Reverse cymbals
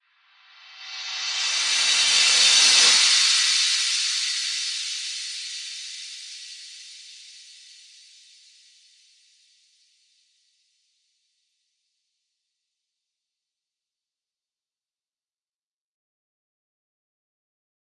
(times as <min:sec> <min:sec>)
0:00.4 0:08.6